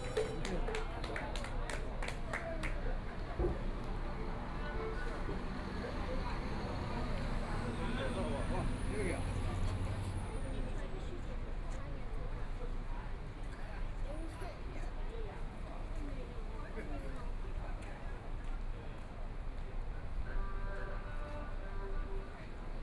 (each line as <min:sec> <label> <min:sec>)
0:00.0 Traffic Sound 0:12.2
0:00.0 sound of the crowd 0:22.8